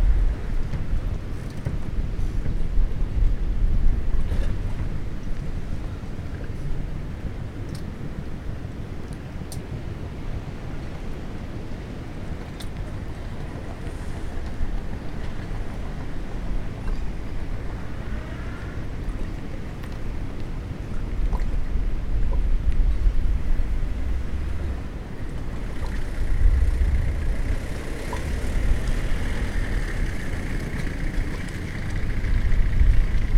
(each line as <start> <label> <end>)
0.0 reverberating sound of the sea 33.3
0.0 wind 33.3